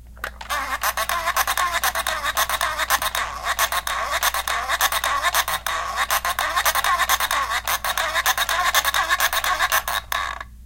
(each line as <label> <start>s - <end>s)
Toy phone makes squawking sound as it rolls along 0.4s - 10.5s